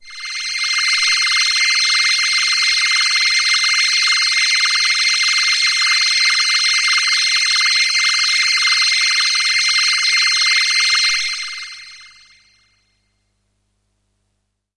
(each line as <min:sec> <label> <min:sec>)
0:00.0 space pad 0:03.3